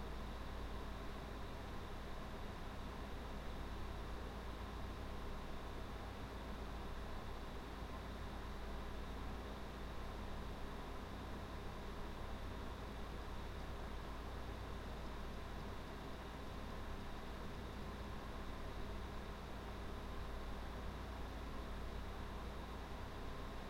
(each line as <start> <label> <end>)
0.0 Computer fan hum 23.6